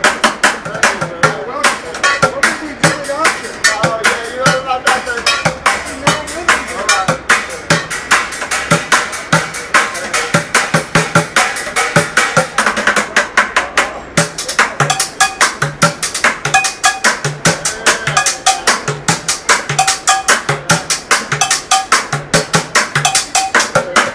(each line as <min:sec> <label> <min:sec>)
0:00.0 Pots and Pans Drummer 0:24.1